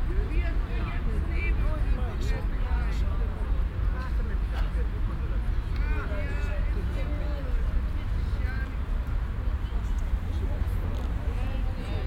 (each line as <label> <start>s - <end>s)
parkbankgespräche 0.0s - 12.0s